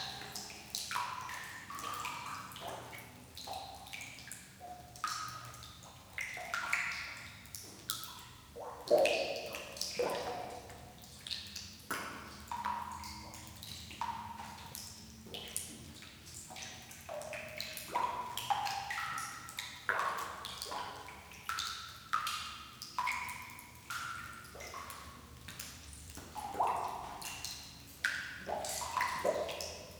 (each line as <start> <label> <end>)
11.9 Dripping in Cavern 29.9